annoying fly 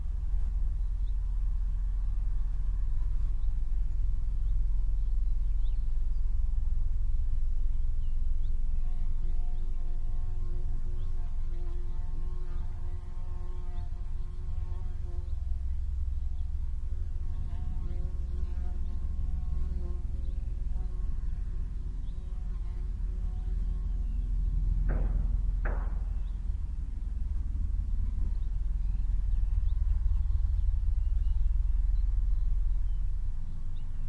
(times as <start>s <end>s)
7.9s 34.0s